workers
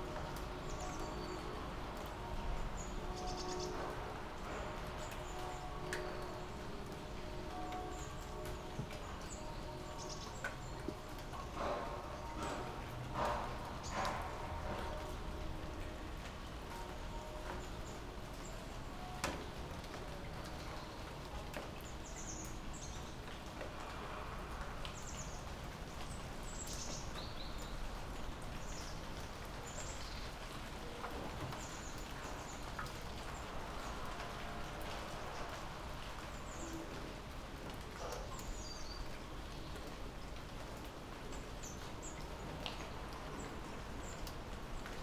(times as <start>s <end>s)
11.5s 15.1s